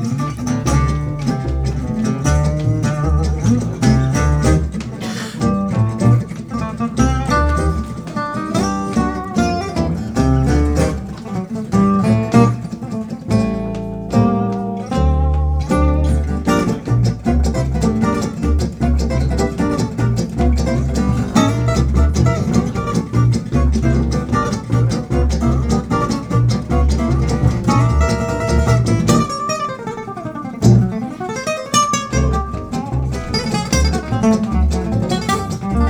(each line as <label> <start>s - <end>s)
Gitarre 0.0s - 35.8s
Kontrabass 0.0s - 35.8s
Rhythmusgitarre 0.0s - 35.8s